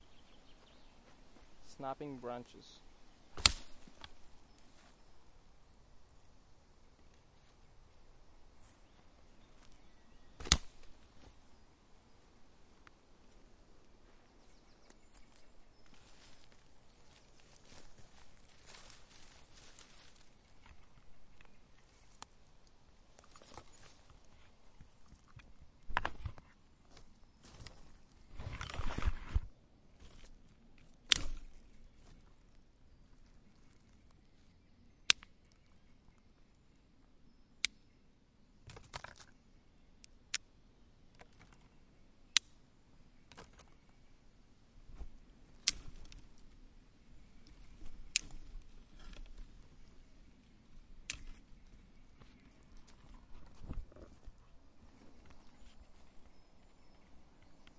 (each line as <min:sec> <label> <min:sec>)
0:03.3 Branches being snapped 0:04.2
0:10.4 Branches being snapped 0:11.0
0:15.9 Branches being snapped 0:20.9
0:28.4 Branches being snapped 0:32.2
0:45.6 Branches being snapped 0:46.5
0:47.6 Branches being snapped 0:49.5
0:51.0 Branches being snapped 0:51.5